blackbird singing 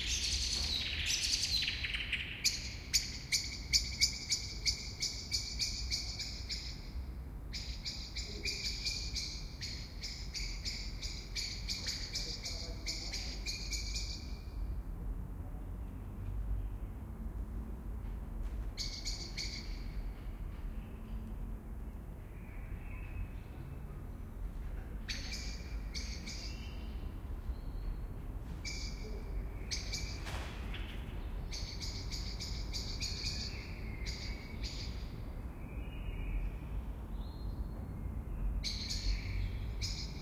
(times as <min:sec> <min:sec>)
0:00.0 0:06.9, 0:07.5 0:14.5, 0:18.8 0:20.0, 0:25.0 0:28.0, 0:28.6 0:37.8, 0:38.5 0:40.2